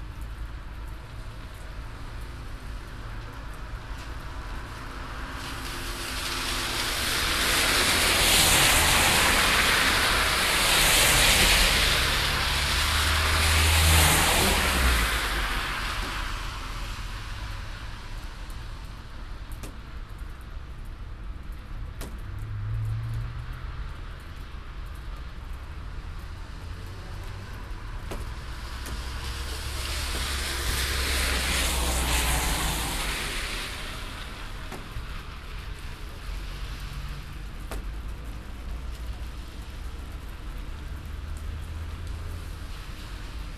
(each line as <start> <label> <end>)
0.0 Rainy Sepa street 43.5